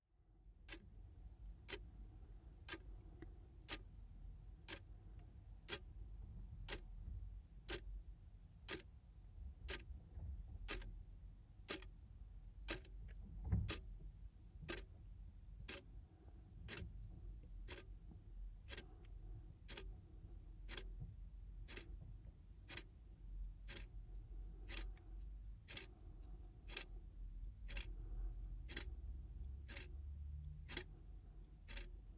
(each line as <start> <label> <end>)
2.6 Wall Clock Ticking 3.0
3.6 Wall Clock Ticking 3.9
4.6 Wall Clock Ticking 4.9
5.6 Wall Clock Ticking 5.9
7.6 Wall Clock Ticking 7.8
8.7 Wall Clock Ticking 8.9
9.7 Wall Clock Ticking 9.9
10.6 Wall Clock Ticking 10.9
11.7 Wall Clock Ticking 11.9
12.6 Wall Clock Ticking 13.1
14.7 Wall Clock Ticking 14.9
15.6 Wall Clock Ticking 15.9
17.6 Wall Clock Ticking 21.0
21.6 Wall Clock Ticking 22.0
22.6 Wall Clock Ticking 23.0
23.6 Wall Clock Ticking 27.0
27.6 Wall Clock Ticking 32.1